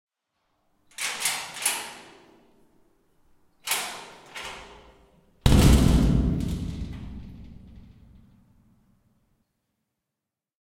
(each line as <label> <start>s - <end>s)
unlocking and opening a heavy metal door 0.9s - 2.6s
unlocking and opening a heavy metal door 3.6s - 8.3s
slam 5.4s - 8.3s